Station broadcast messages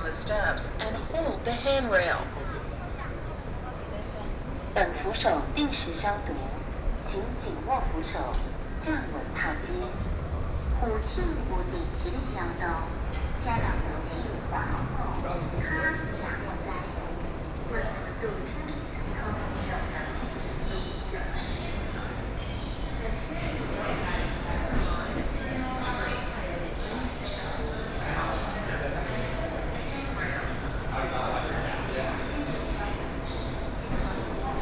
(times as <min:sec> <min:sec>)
0:00.0 0:02.4, 0:04.8 0:17.0